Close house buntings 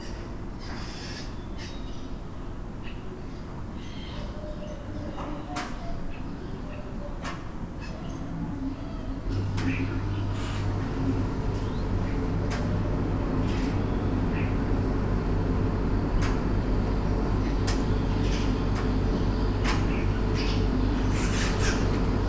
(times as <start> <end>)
20.2 22.2